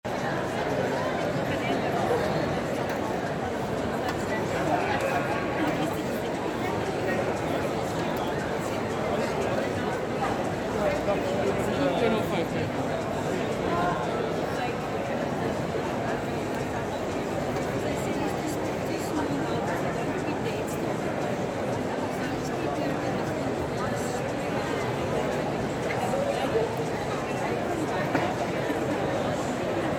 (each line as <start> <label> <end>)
0.0 crowd 29.9